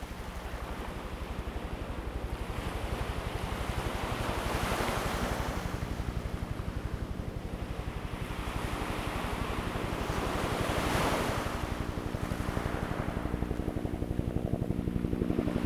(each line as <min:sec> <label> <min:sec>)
0:08.6 waves 0:15.6